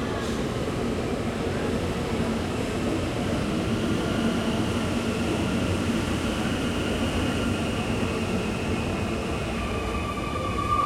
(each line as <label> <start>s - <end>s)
frequent trains passing by 0.0s - 10.8s